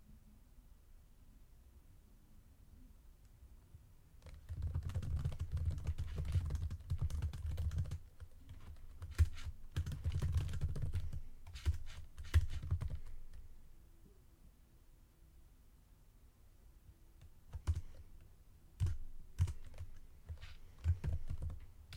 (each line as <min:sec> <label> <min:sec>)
0:04.2 Typing quickly on a computer 0:13.4
0:17.5 Typing quickly on a computer 0:18.0
0:18.8 Typing quickly on a computer 0:21.9